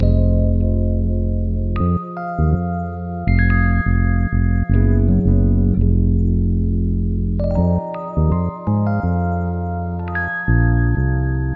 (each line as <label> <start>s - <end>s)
real rhodes 0.0s - 11.5s